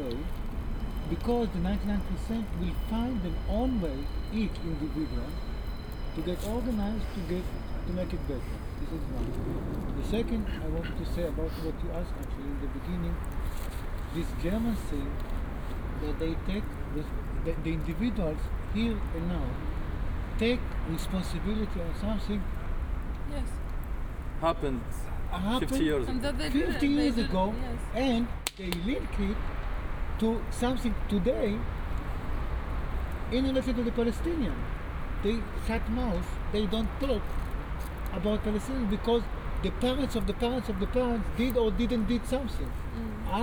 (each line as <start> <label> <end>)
0.0 people talking 0.4
0.0 campfire 43.4
1.1 people talking 5.4
6.2 people talking 9.4
10.0 people talking 13.2
14.2 people talking 15.2
16.0 people talking 19.6
20.4 people talking 22.5
23.3 people talking 23.6
24.4 people talking 29.4
30.2 people talking 31.7
33.3 people talking 37.3
38.1 people talking 43.4